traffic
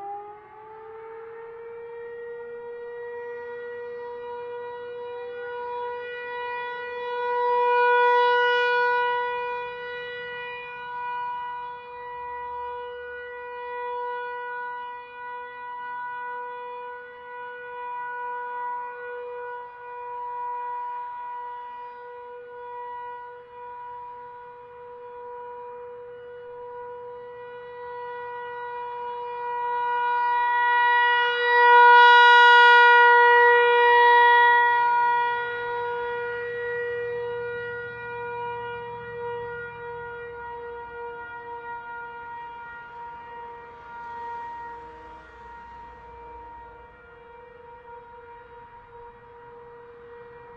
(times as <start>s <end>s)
36.1s 50.5s